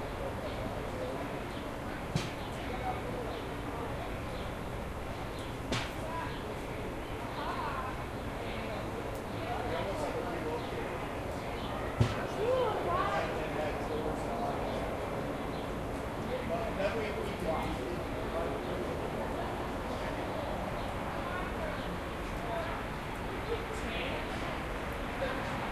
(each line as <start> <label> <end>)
0.0 birds and squirrels chirping 13.1
6.0 Male and female voices 14.9
13.7 birds and squirrels chirping 24.9